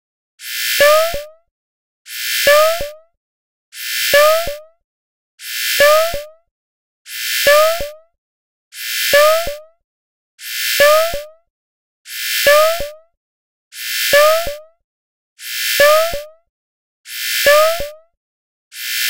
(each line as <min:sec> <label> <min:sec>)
0:00.4 radar signal sound 0:01.3
0:02.2 radar signal sound 0:02.9
0:03.9 radar signal sound 0:04.6
0:05.6 radar signal sound 0:06.3
0:07.2 radar signal sound 0:08.0
0:08.9 radar signal sound 0:09.5
0:10.6 radar signal sound 0:11.2
0:12.2 radar signal sound 0:12.9
0:13.9 radar signal sound 0:14.5
0:15.5 radar signal sound 0:16.1
0:17.2 radar signal sound 0:17.8